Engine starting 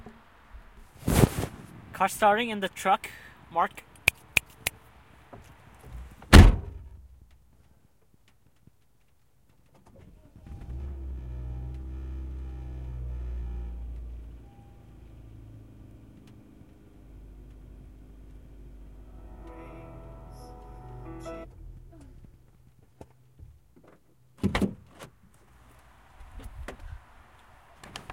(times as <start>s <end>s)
10.4s 13.8s